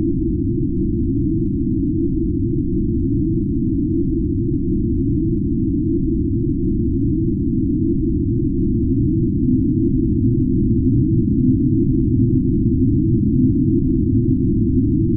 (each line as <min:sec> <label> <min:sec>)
0:00.0 deep drone-like noise 0:15.1